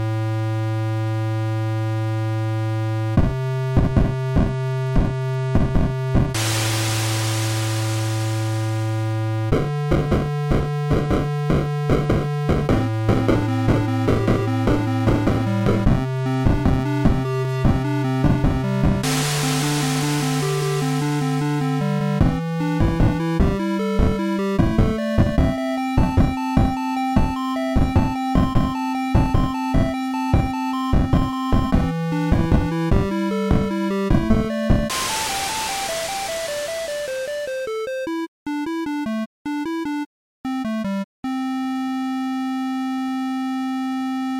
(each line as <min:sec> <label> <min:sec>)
0:06.4 song 0:09.3
0:19.0 song 0:22.8
0:34.9 song 0:37.9